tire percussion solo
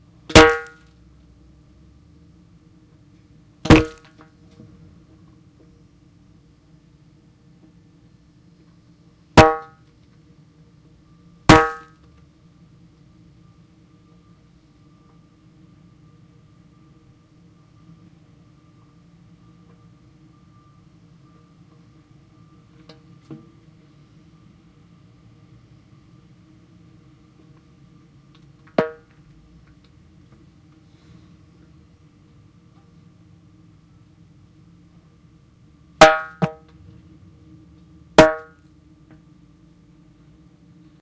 0.3s 0.8s, 9.4s 9.8s, 11.5s 12.0s, 36.0s 36.7s, 38.2s 38.6s

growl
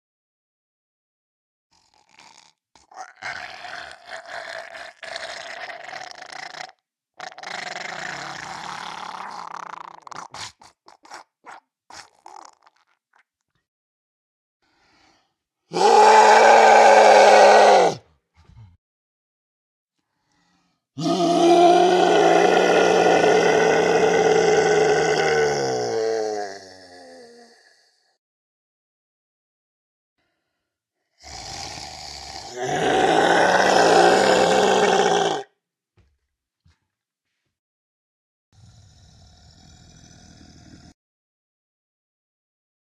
1.7s 10.6s, 15.7s 18.8s, 21.0s 28.2s, 31.1s 35.5s, 38.6s 41.0s

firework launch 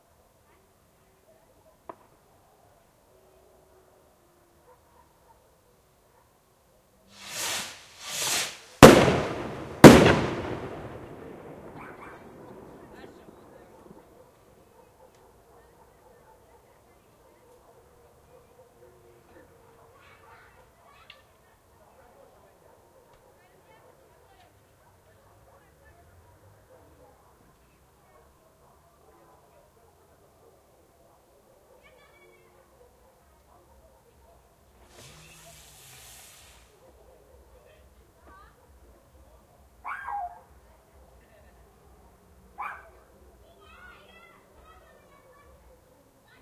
7.1s 14.1s, 34.8s 36.8s

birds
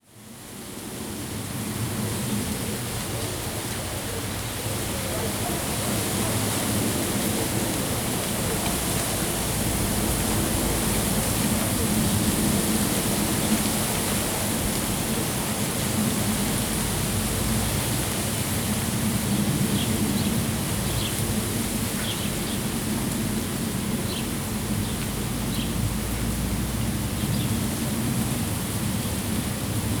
18.6s 22.8s, 24.0s 26.3s

